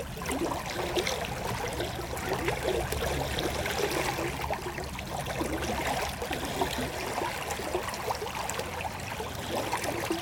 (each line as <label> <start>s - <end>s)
river 0.0s - 10.2s